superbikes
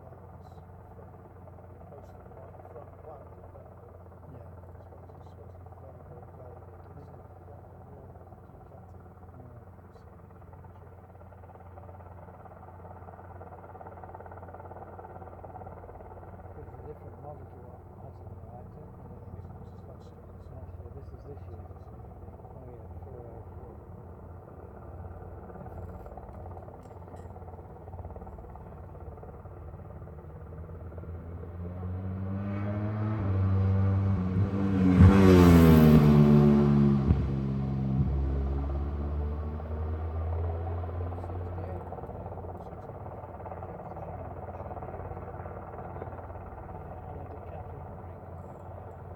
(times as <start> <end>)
19.4 49.1